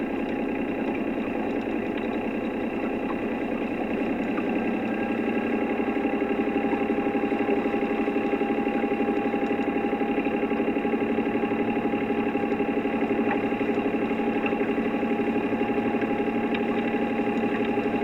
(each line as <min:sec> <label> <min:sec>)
0:00.0 boat ride 0:18.0